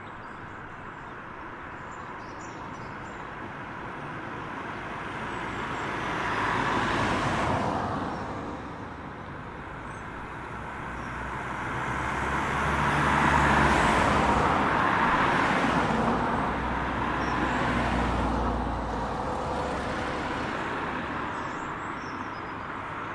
Passing traffic 0:00.0 - 0:23.1

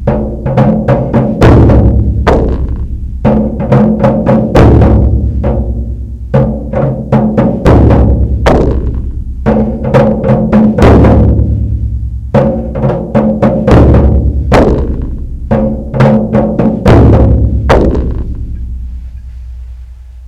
6 drums 0:00.0 - 0:20.2

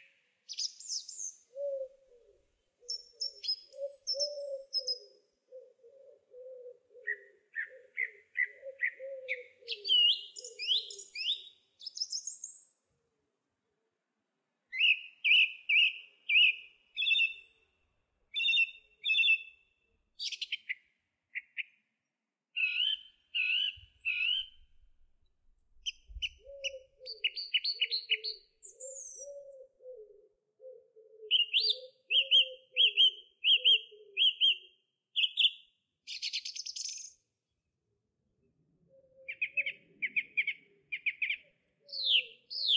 Song Thrush singing from a branch 0:00.0 - 0:12.8
Song Thrush singing from a branch 0:14.7 - 0:17.7
Song Thrush singing from a branch 0:18.3 - 0:21.9
Song Thrush singing from a branch 0:22.5 - 0:25.0
Song Thrush singing from a branch 0:25.7 - 0:37.3
Song Thrush singing from a branch 0:38.9 - 0:42.7

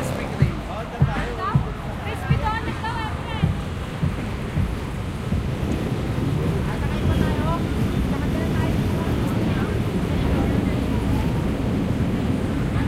cars 0:00.0 - 0:12.8
jeepneys 0:00.0 - 0:12.8
motorcycles 0:00.0 - 0:12.8
voices of the people walking around 0:00.0 - 0:12.8
wind in the microphones 0:00.0 - 0:12.8

